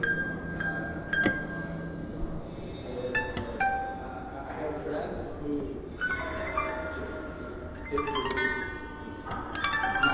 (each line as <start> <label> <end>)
0.0 Playing a Smetak instrument 4.4
5.8 Playing a Smetak instrument 10.1